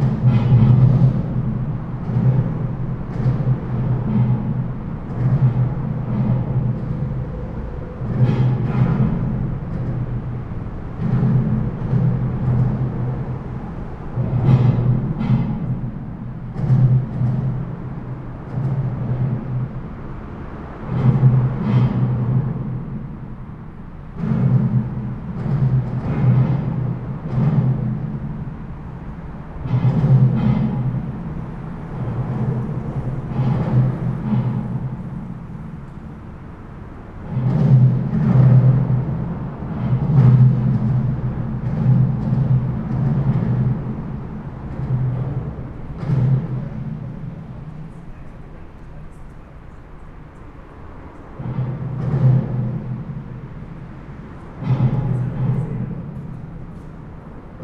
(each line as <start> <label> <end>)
0.0 traffic noise under the bridge 57.6